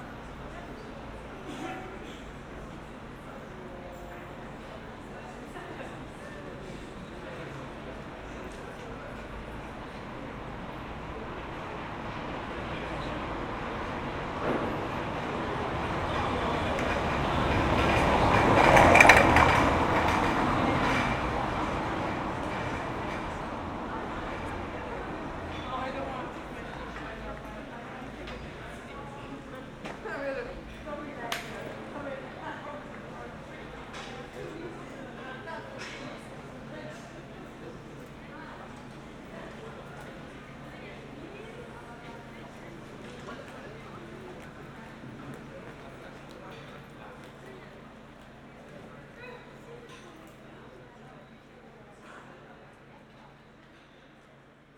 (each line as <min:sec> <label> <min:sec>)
0:05.9 cyclists 0:49.7
0:09.4 night traffic 0:28.2